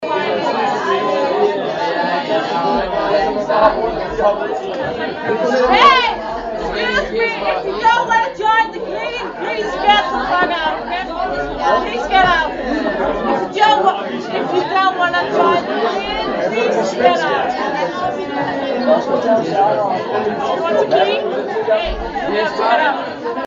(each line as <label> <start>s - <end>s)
drunken crowd 0.0s - 23.4s